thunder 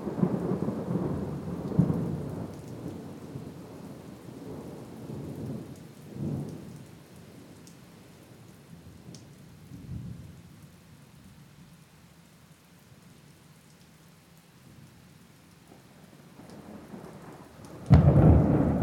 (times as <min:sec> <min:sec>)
0:16.8 0:18.8